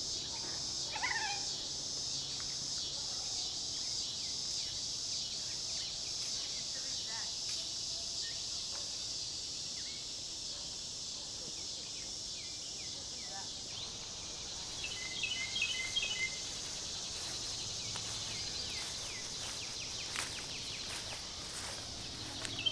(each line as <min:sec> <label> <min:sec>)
0:00.0 cicadas 0:22.7
0:11.9 Birdsong 0:22.7